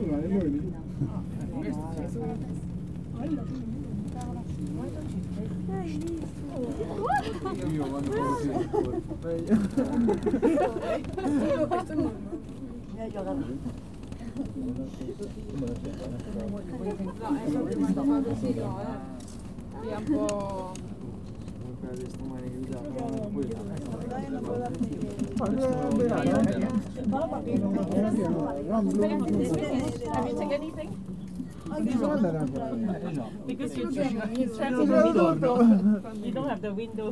voices of other passengers 0:00.0 - 0:37.1

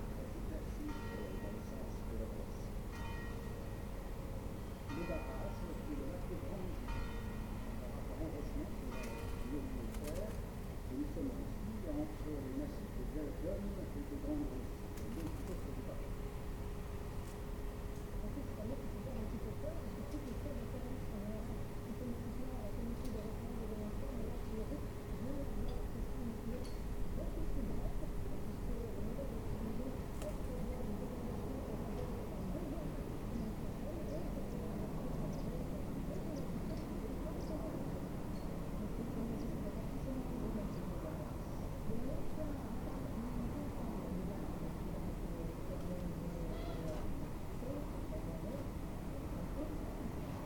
bells striking twelve noon 0:00.9 - 0:01.7
bells striking twelve noon 0:02.9 - 0:04.0

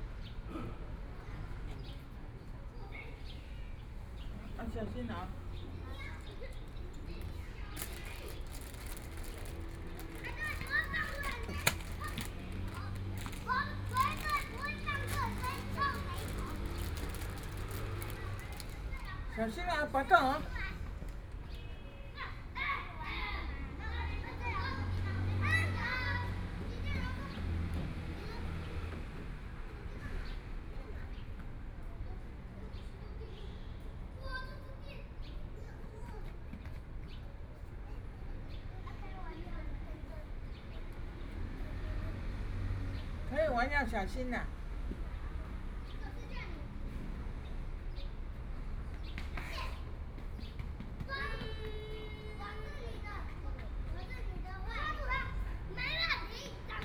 Children in the play area 0:00.0 - 0:56.8
The elderly 0:04.4 - 0:20.5

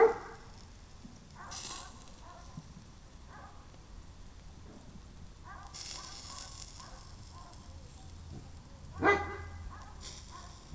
dog 0:00.0 - 0:00.5
dog 0:01.4 - 0:02.6
dog 0:03.3 - 0:03.7
dog 0:05.4 - 0:07.7
dog 0:09.0 - 0:10.6

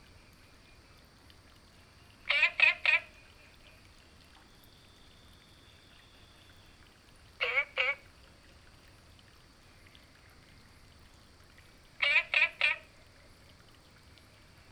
Frog chirping 0:02.2 - 0:03.8
Frog chirping 0:07.4 - 0:08.1
Frog chirping 0:12.0 - 0:13.0

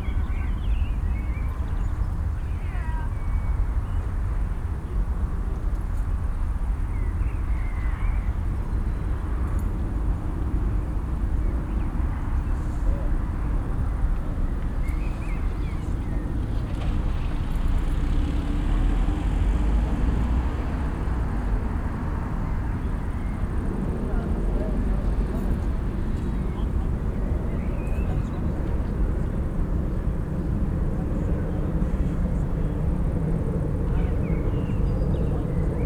activity in the street 0:00.0 - 0:35.8

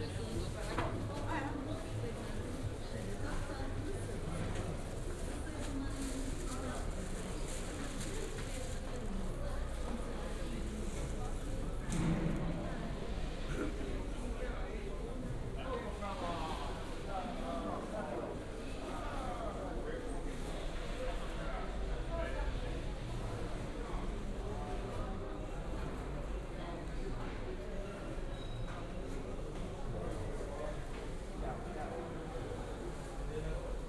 walking around worker's market 0:00.0 - 0:14.4

